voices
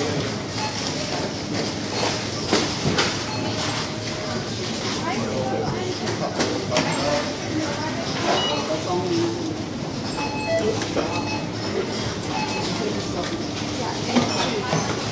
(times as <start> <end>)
3.5 15.1